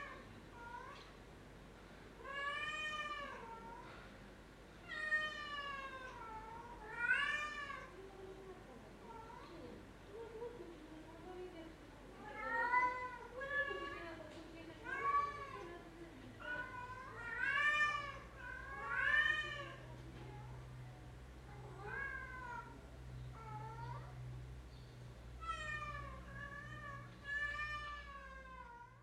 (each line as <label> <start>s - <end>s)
Cats wailing 4.9s - 8.0s
Cats wailing 16.4s - 19.8s
Cats wailing 21.6s - 24.2s
Cats wailing 25.4s - 29.0s